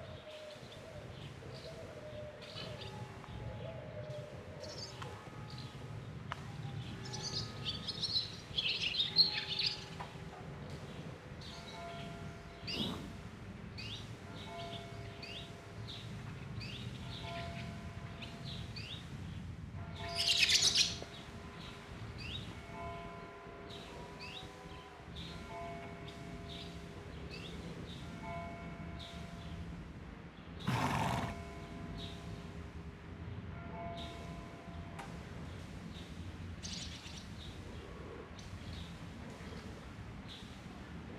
4.7s church bell 12.8s
12.6s horse breathing and running in a paddock 13.5s
13.7s church bell 19.0s
19.6s church bell 30.1s
30.6s horse breathing and running in a paddock 31.5s
31.4s church bell 36.0s

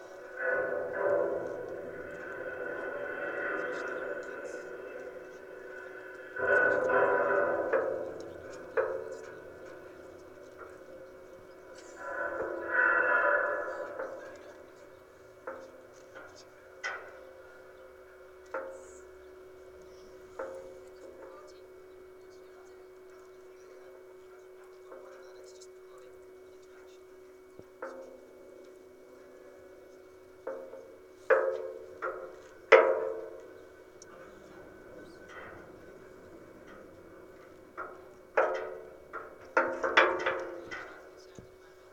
0.0s electrical pole 23.1s
23.8s electrical pole 41.9s

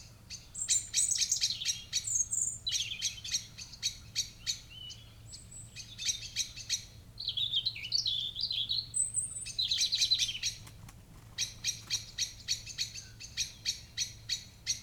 0.0s background noise from traffic 14.8s
8.1s pheasant 14.8s

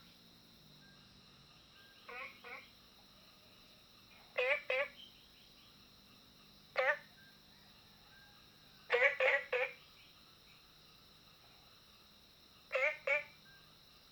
0.0s Frogs chirping 14.1s

